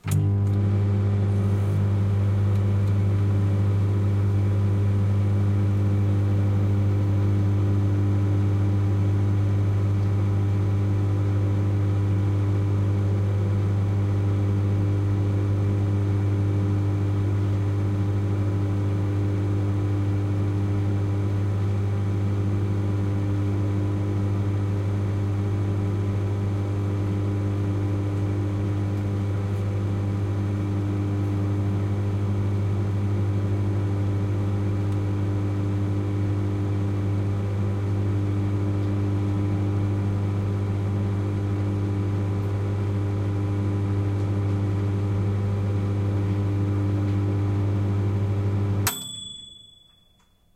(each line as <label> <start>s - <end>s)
microwave cooking 0.0s - 49.8s
microwave time ping's 48.8s - 50.4s